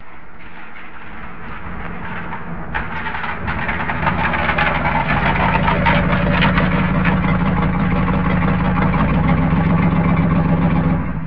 truck arrives and stops 0:00.0 - 0:11.2

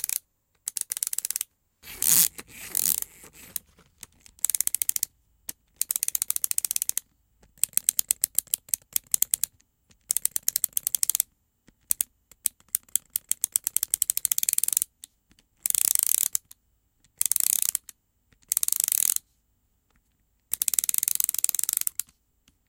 Small Mechanism 0:00.0 - 0:05.1
Plastic Ratchet 0:00.0 - 0:11.2
Small Mechanism 0:05.7 - 0:14.9
Plastic Ratchet 0:11.8 - 0:14.9
Small Mechanism 0:15.6 - 0:19.2
Plastic Ratchet 0:15.6 - 0:19.2
Plastic Ratchet 0:20.5 - 0:22.1
Small Mechanism 0:20.5 - 0:22.1

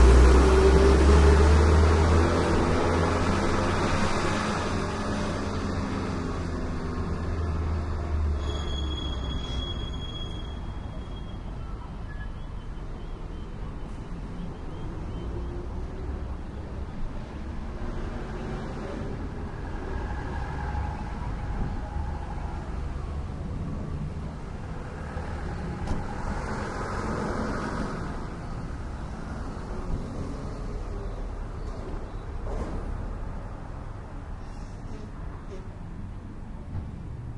Diesel Van passing 0:00.0 - 0:10.9

